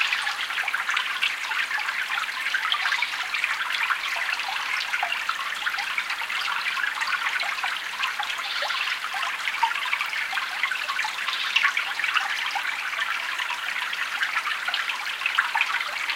wooded mountain stream 0:00.0 - 0:16.1

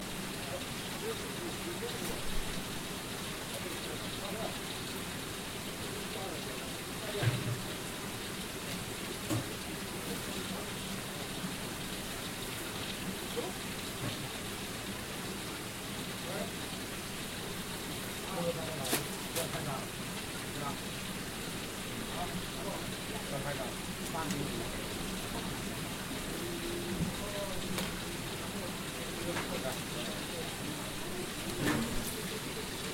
people 0:22.1 - 0:32.9

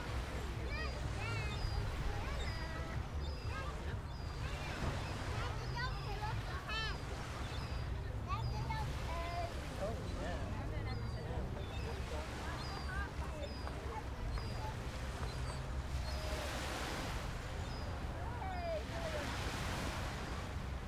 children talking 0:00.0 - 0:20.8
gentle sea 0:00.0 - 0:20.8
seagulls 0:00.7 - 0:20.4

